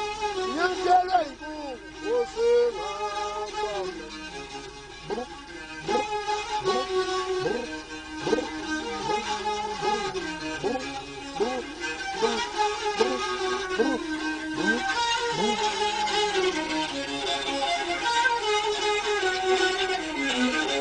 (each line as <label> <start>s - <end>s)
traditional street busker 0.0s - 20.8s